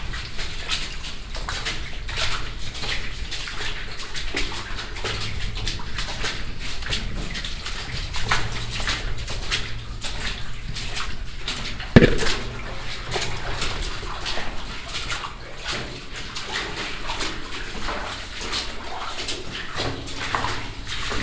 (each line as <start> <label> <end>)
12.0 hitting the helmet against the stone ceiling 12.6